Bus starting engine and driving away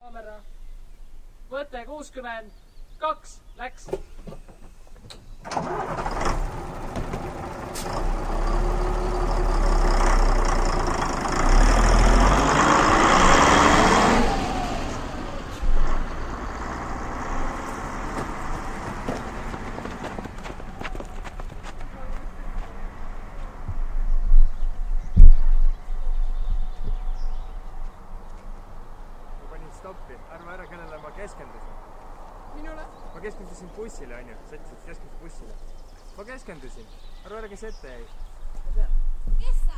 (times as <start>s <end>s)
5.1s 24.8s, 25.8s 36.2s